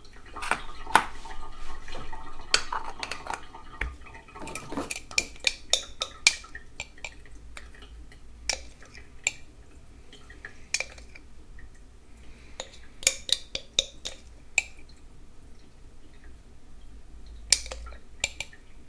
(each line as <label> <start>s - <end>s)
Italian coffee maker moka complete preparation 0.0s - 7.7s